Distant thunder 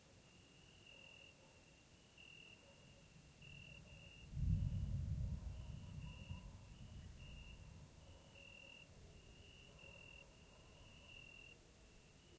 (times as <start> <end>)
3.7 8.4